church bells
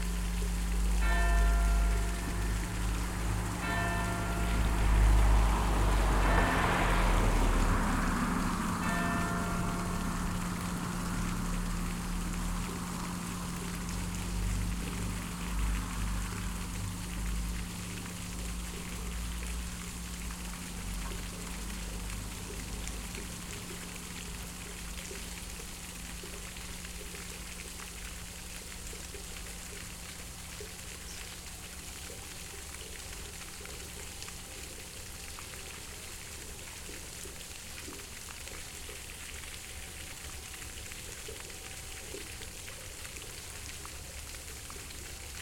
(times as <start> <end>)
1.0 8.0, 8.7 11.5